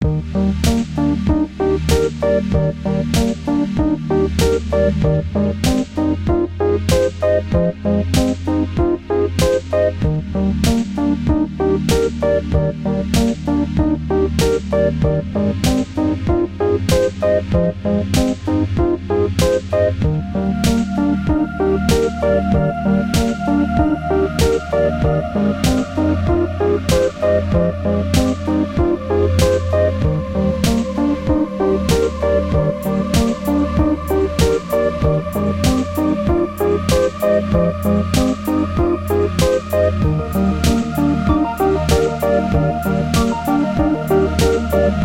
synth 0.1 - 45.0

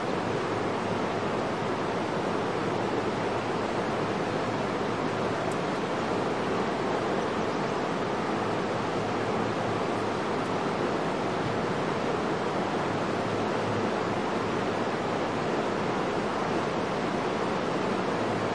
roaring waterfall 0.0 - 18.5

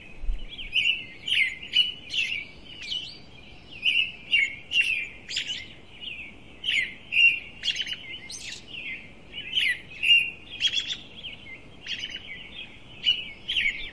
birds being busy 0.0 - 13.9

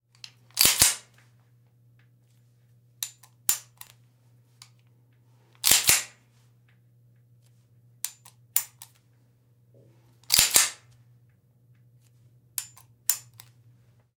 Gun racking back 10.2 - 10.8

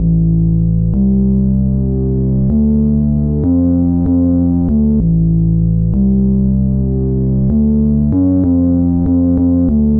bass 0.0 - 9.9

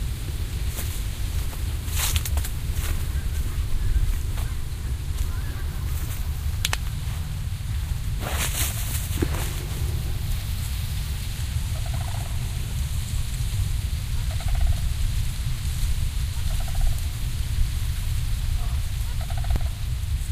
my footsteps 0.0 - 13.5
dried corn stalks in the breeze 0.0 - 20.3
flock of sandhill cranes 0.0 - 20.3

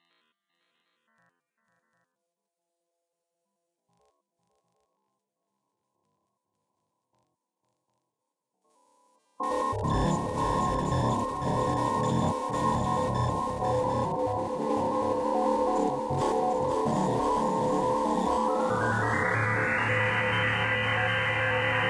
feedback 9.4 - 21.8

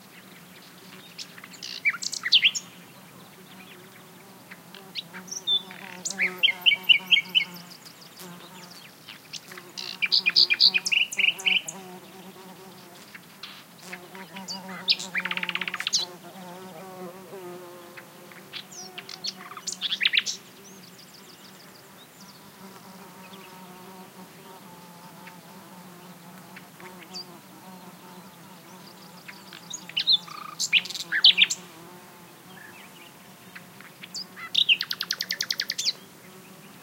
Nightingale song 0.0 - 16.1
bees buzzing around 0.6 - 36.8

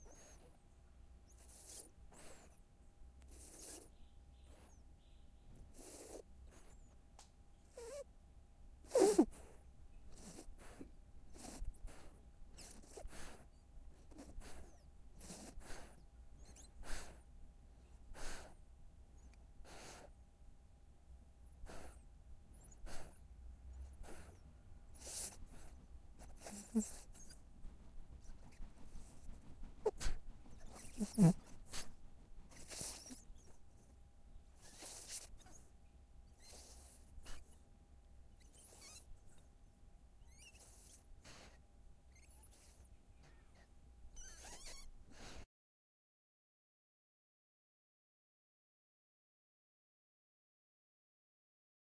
Puppy Sleeping 0.0 - 8.1
Puppy Sleeping 8.8 - 20.3
Puppy Sleeping 21.3 - 45.5

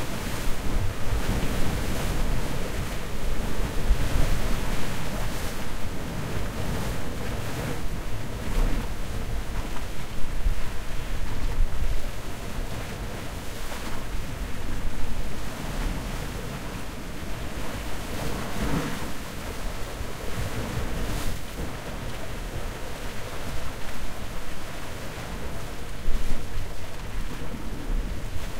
Waves 0.0 - 28.5

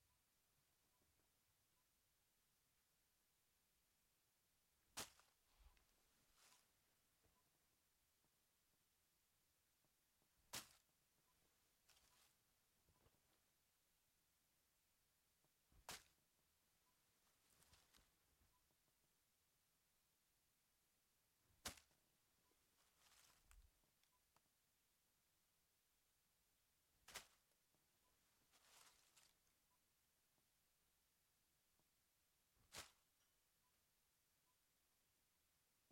Clothing 11.7 - 13.3
Clothing 17.2 - 18.4
Clothing 21.5 - 24.1
Clothing 28.2 - 29.6

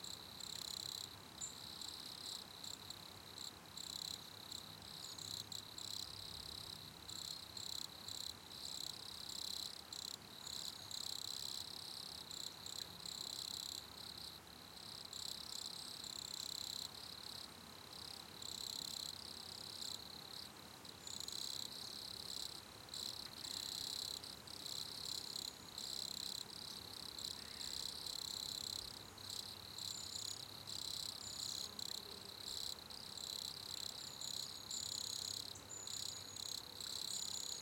Crickets 0.0 - 37.6

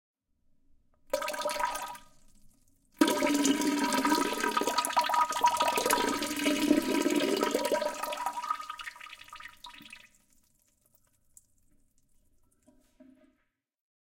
Pouring Water into Toilet 1.1 - 13.2

